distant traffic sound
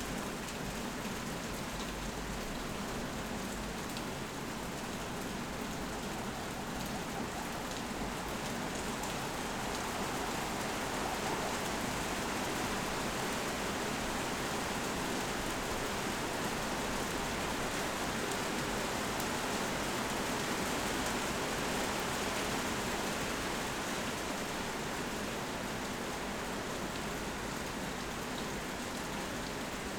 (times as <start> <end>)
4.4 15.0